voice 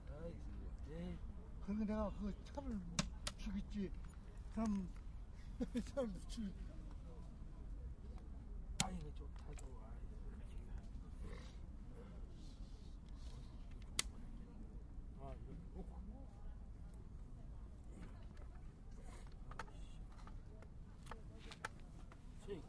8.8 11.6

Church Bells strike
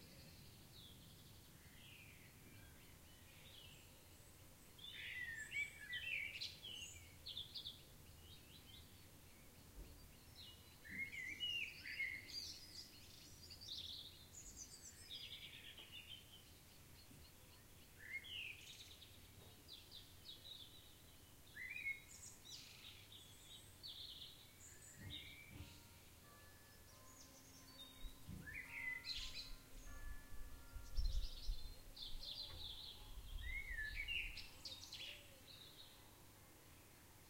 25.0 33.6

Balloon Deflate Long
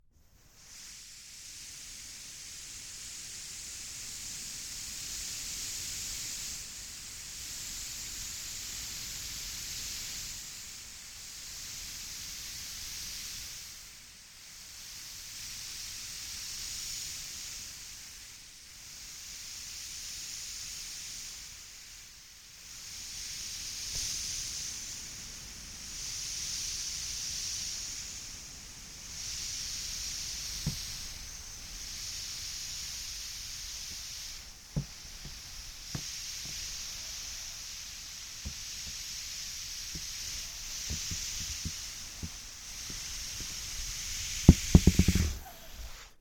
29.7 37.0, 37.6 46.2

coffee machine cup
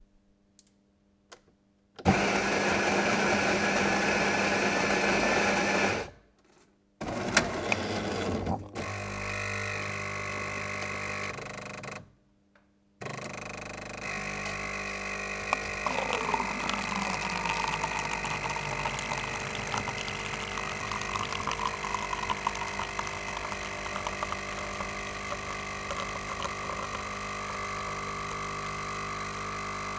7.0 9.4, 14.1 28.9

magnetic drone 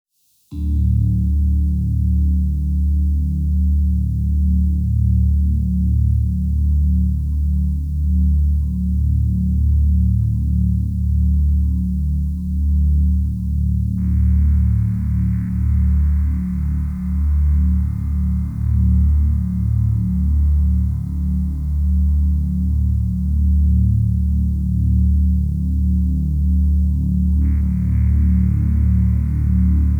14.0 26.5, 27.2 29.9

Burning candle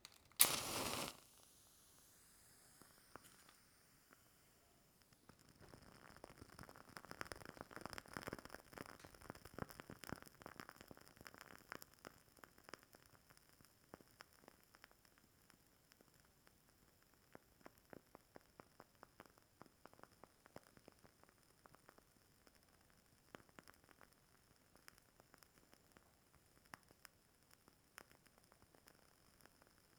0.0 1.6

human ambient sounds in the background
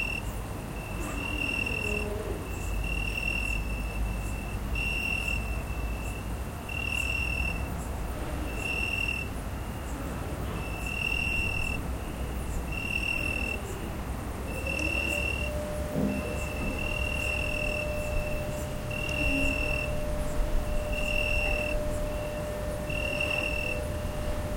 0.8 4.5

